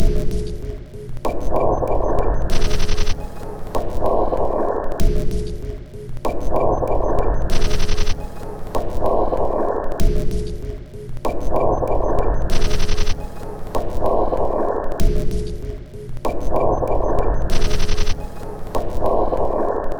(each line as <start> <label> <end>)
0.0 Drum Loop 4.3
5.0 Drum Loop 9.0
10.0 Drum Loop 14.0
15.0 Drum Loop 19.0